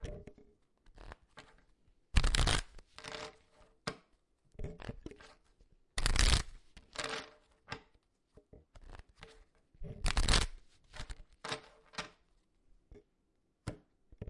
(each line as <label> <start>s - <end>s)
shuffling cards 2.2s - 3.3s
shuffling cards 6.0s - 7.3s
shuffling cards 10.0s - 12.0s